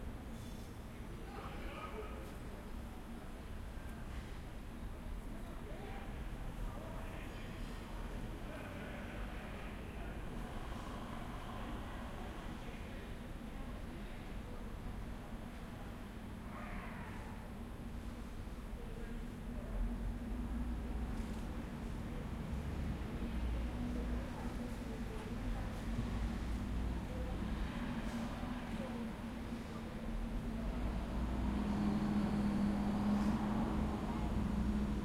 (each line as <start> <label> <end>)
0.0 Train 35.0
0.0 bus 35.0
0.9 crowd 17.8